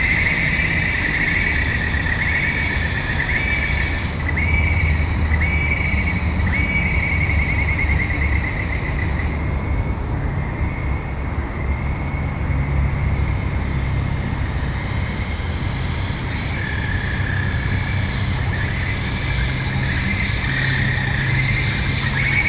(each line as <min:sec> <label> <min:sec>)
0:00.0 Dusk chorus 0:09.4
0:00.0 busy road 0:22.4
0:14.8 Dusk chorus 0:22.4